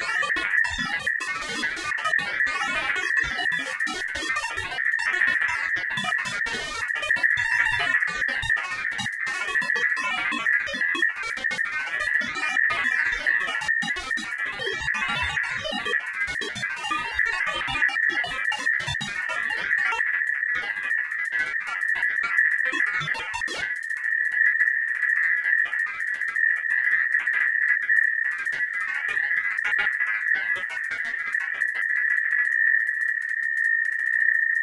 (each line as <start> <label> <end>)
0.0 Glitched Oscillations 33.2